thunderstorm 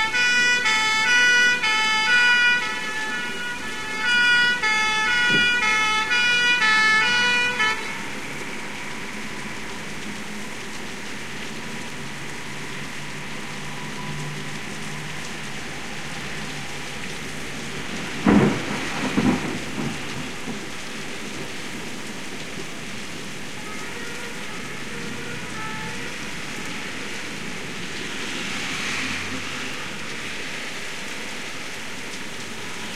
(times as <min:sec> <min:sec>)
0:04.1 0:10.0, 0:15.8 0:23.5